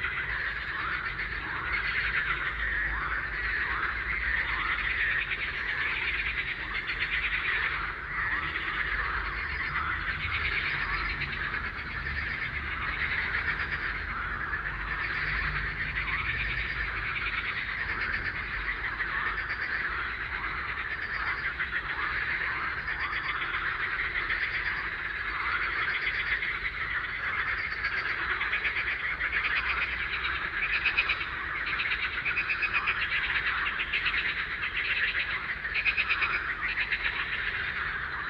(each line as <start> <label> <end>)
0.0 Frog chorus 38.2